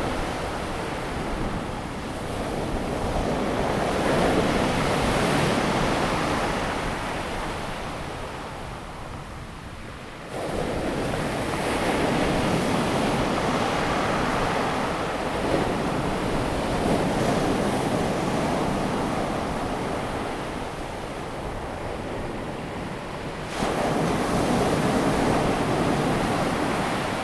waves 0:10.3 - 0:27.2

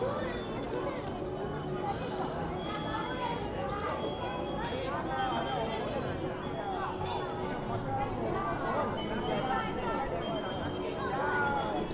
children playing 0:00.0 - 0:11.9

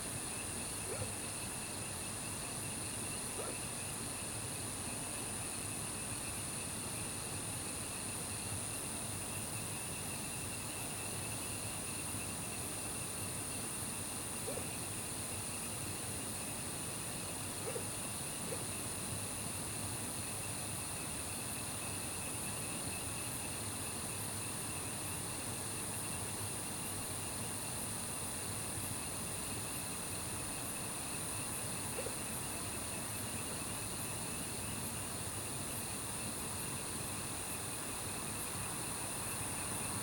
Insects sounds 0:00.0 - 0:40.0
Frogs chirping 0:00.8 - 0:01.4
Frogs chirping 0:12.2 - 0:19.6
Dogs barking 0:14.4 - 0:14.7
Dogs barking 0:17.6 - 0:18.7
Frogs chirping 0:29.1 - 0:35.2

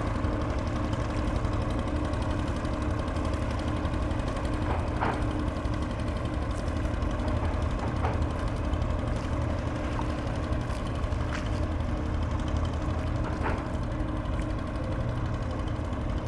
Noisy barge 0:00.0 - 0:16.2
nearby clapping water 0:03.4 - 0:15.1

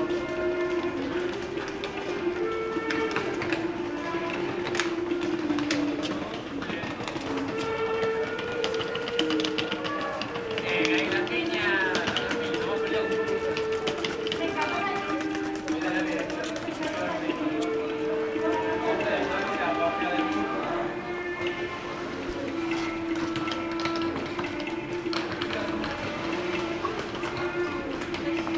group of Italian tourists with their suitcases arrive 0:00.0 - 0:28.5
music is played 0:00.0 - 0:28.5

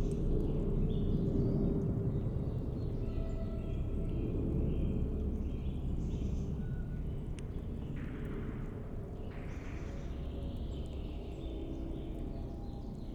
aircraft 0:00.0 - 0:13.1

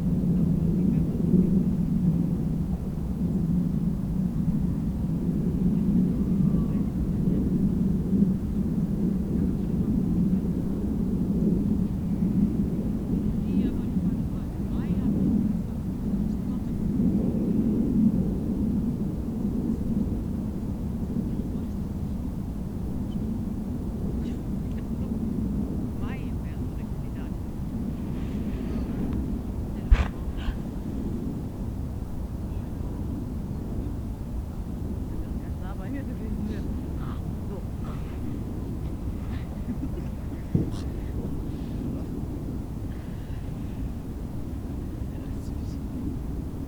people busy with kites 0:00.0 - 0:22.0
windy 0:00.0 - 0:46.6
people busy with kites 0:22.6 - 0:46.6
promenaders 0:26.8 - 0:31.2

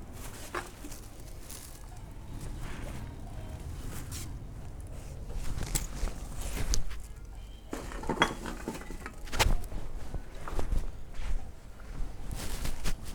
Deposit of beer cans and bottles 0:05.6 - 0:09.7

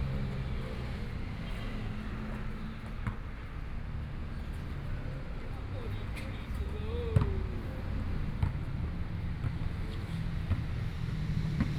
Playing basketball voice 0:06.9 - 0:07.4

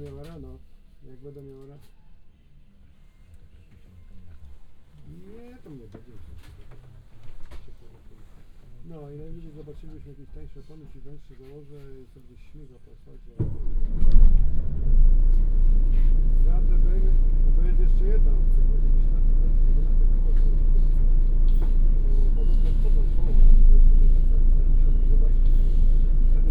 bus leaves the depot 0:13.4 - 0:26.5
talking in muffled voices 0:15.9 - 0:26.5

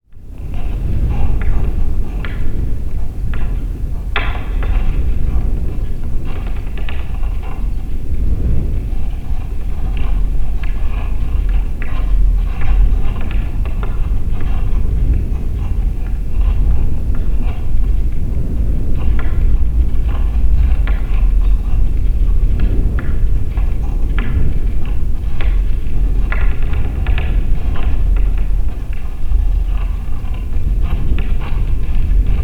Metal Flagpole in a High Wind 0:00.0 - 0:32.4
strong wind is blowing from the left 0:00.0 - 0:32.4

